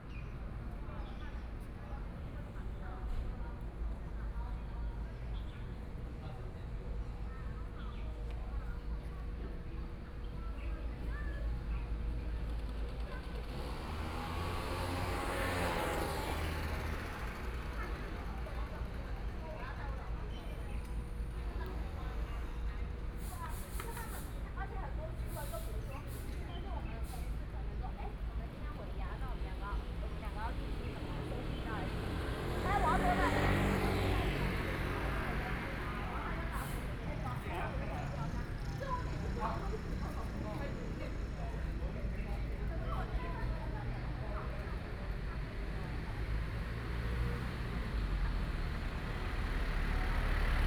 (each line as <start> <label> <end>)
12.4 Traffic Sound 50.6